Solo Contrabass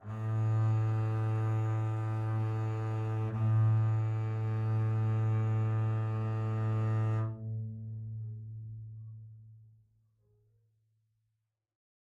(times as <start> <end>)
0.0 9.4